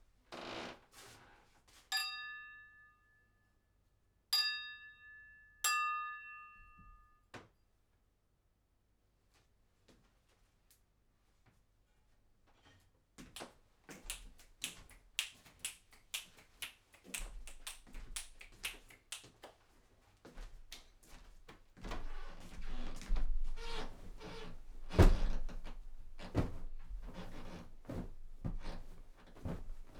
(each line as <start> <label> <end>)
13.4 Clapping/talking 19.6
20.7 interacting with different objects and stuff 29.9